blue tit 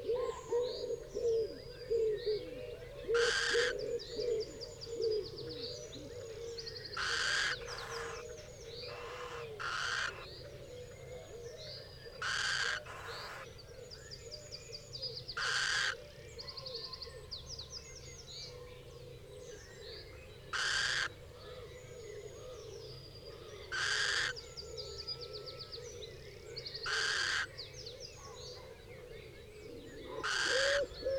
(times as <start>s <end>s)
6.7s 10.4s, 12.2s 13.5s